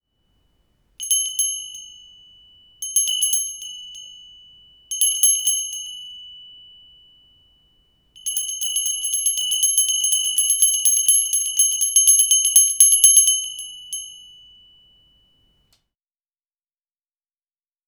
small bell ringing 1.0 - 15.7

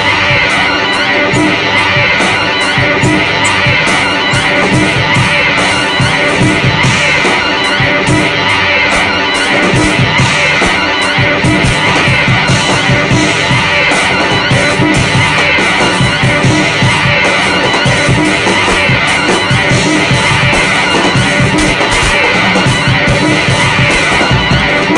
drums 0.0 - 24.9
guitar 0.0 - 24.9
voice memos 0.0 - 24.9

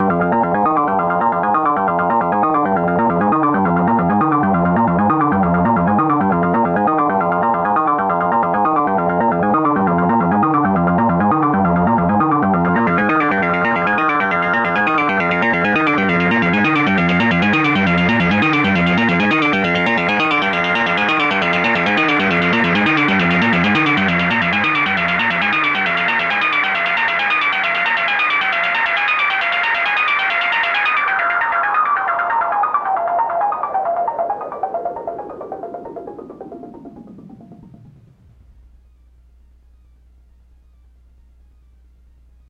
Dual VCO's + filters in a fast sequence 0.0 - 42.4

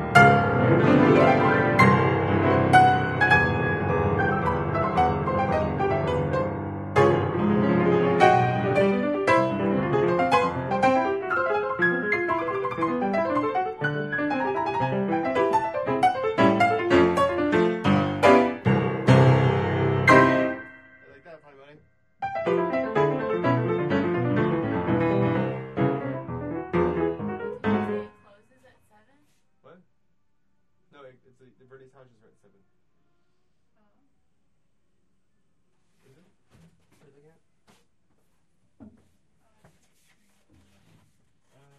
Piano 0.0 - 21.4
Piano 22.2 - 28.4

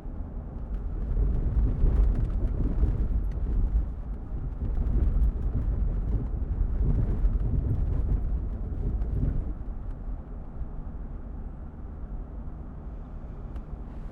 running SUV in a highway at a moderate/fast speed 0.0 - 14.1

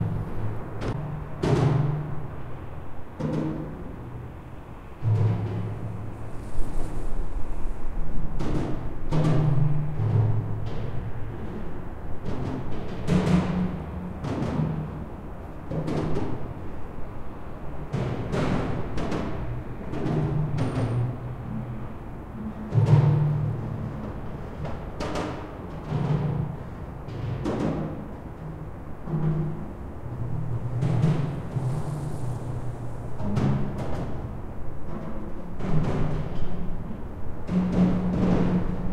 roar of a bridge, when the cars drive over 0.0 - 38.9

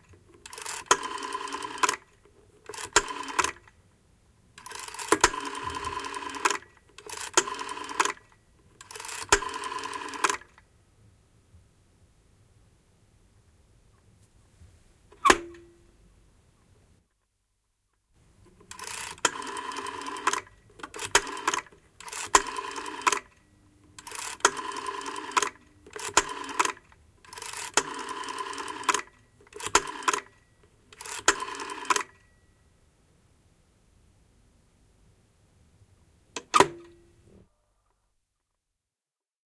dialing 0.4 - 2.1
dialing 2.7 - 3.6
dialing 4.6 - 10.6
dialing 18.5 - 30.4
dialing 31.0 - 32.3

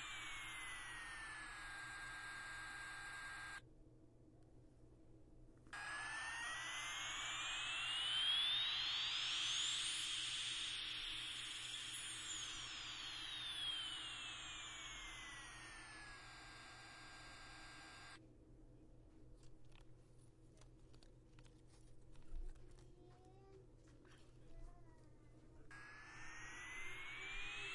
several different sound toys panning around my recorder 0.0 - 3.6
several different sound toys panning around my recorder 5.8 - 18.2
several different sound toys panning around my recorder 22.2 - 27.7

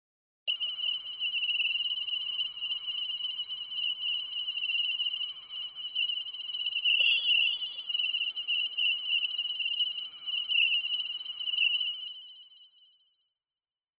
drone 7.0 - 7.9

